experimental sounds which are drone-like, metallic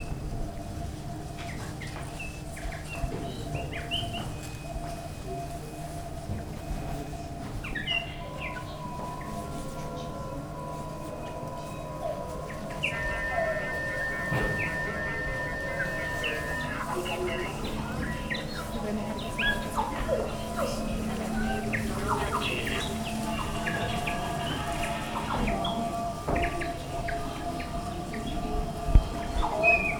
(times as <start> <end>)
7.7 29.9